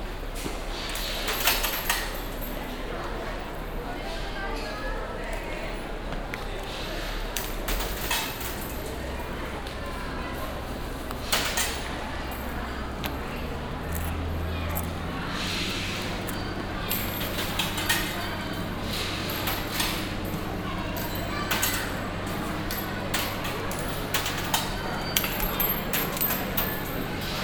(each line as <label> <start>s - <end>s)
visitors throw money coins in a big wooden box 1.0s - 2.7s
visitors throw money coins in a big wooden box 7.3s - 9.7s
visitors throw money coins in a big wooden box 10.4s - 27.4s